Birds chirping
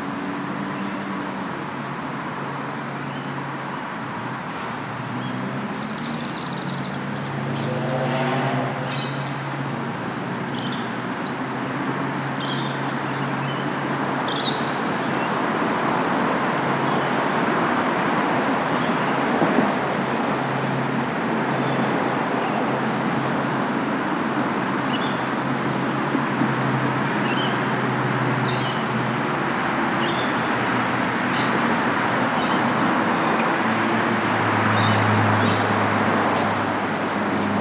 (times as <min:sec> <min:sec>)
0:34.7 0:37.6